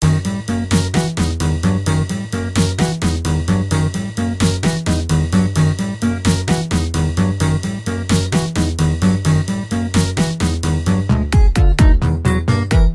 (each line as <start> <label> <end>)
0.0 electronic music 12.9